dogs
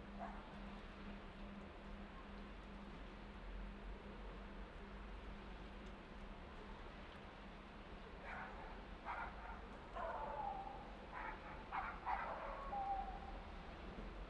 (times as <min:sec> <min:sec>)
0:00.2 0:00.5, 0:08.2 0:13.4